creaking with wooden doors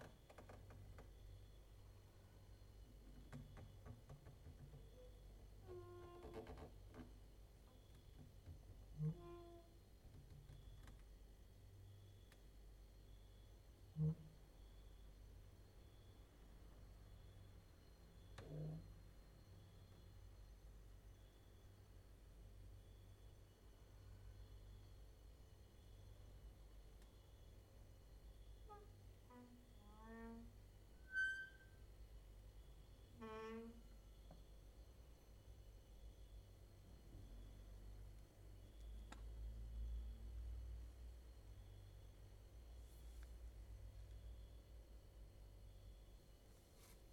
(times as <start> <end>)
0.0 1.2, 3.0 11.1, 28.6 31.8, 33.1 34.0